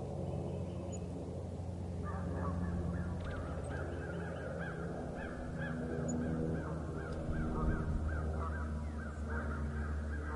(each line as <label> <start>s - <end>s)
birds 0.0s - 10.3s
plane flying overhead 0.0s - 10.3s